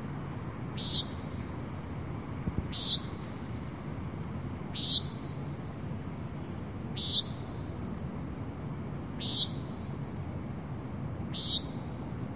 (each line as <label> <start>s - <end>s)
bird calls 0.0s - 1.5s
bird calls 2.7s - 3.5s
bird calls 4.7s - 5.4s
bird calls 7.0s - 7.7s
bird calls 9.2s - 9.9s
bird calls 11.3s - 12.0s